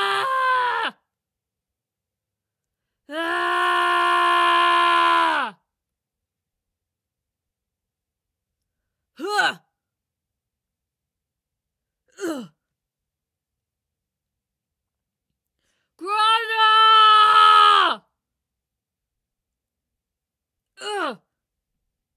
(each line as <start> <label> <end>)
0.0 Screams of a female warrior 1.1
3.1 Screams of a female warrior 5.6
9.2 Screams of a female warrior 9.6
16.0 Screams of a female warrior 18.1
20.8 Screams of a female warrior 21.3